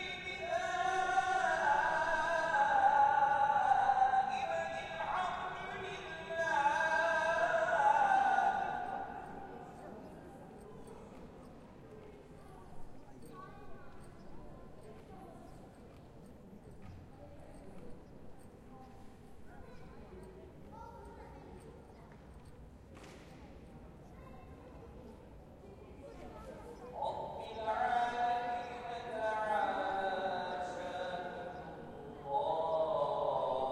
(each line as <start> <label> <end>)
0.0 Walla 10.4
0.0 call to prayer 33.7